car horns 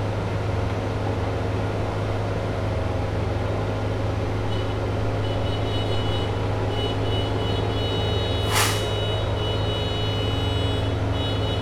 4.5s 11.6s

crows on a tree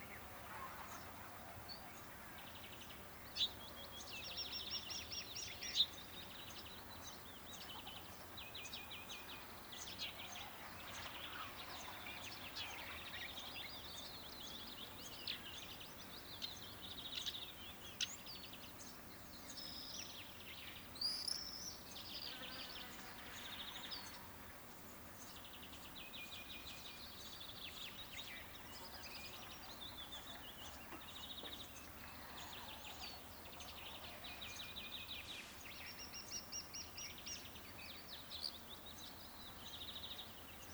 27.6s 37.6s

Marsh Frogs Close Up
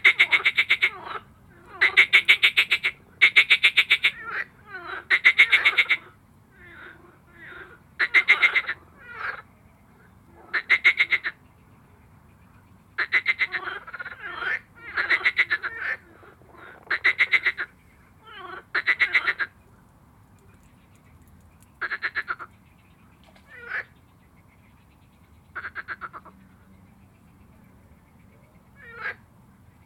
13.1s 17.7s

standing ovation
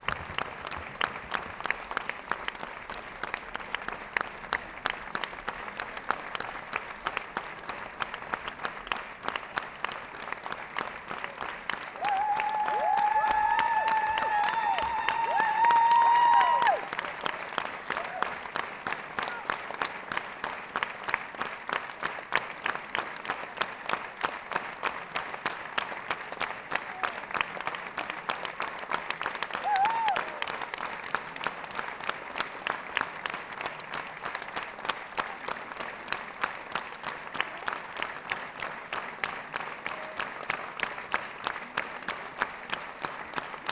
10.2s 19.8s, 26.7s 31.5s

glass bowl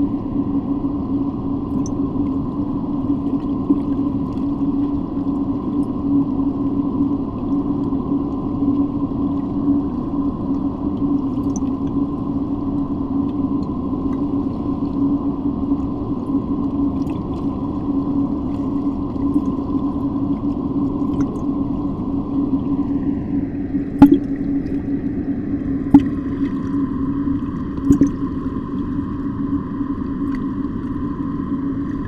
24.0s 24.7s

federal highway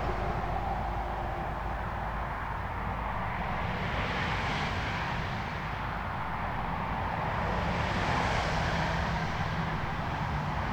0.0s 3.6s

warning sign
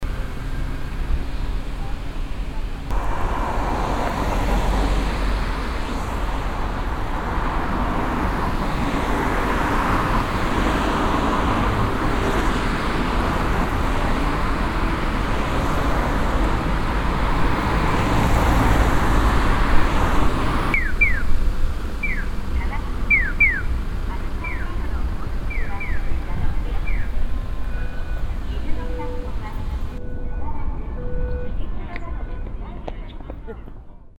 5.8s 21.4s, 22.0s 32.5s

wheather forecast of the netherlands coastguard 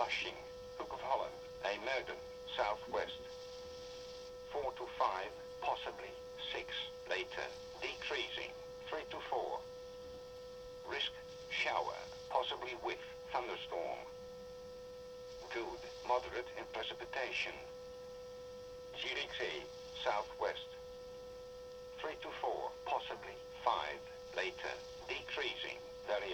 0.0s 3.3s, 4.5s 9.6s, 10.8s 14.1s, 15.4s 17.7s, 18.9s 20.8s, 22.0s 26.3s

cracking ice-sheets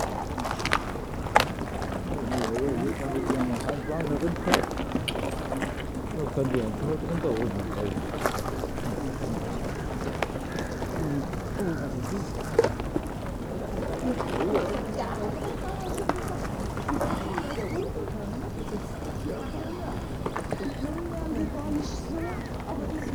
0.0s 18.0s

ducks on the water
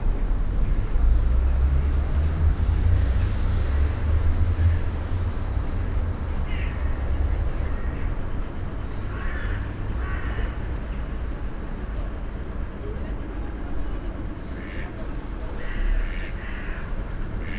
5.7s 11.0s, 12.8s 17.5s

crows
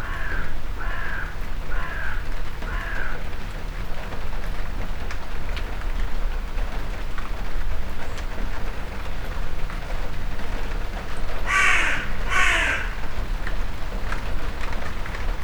0.0s 3.2s, 11.5s 13.1s

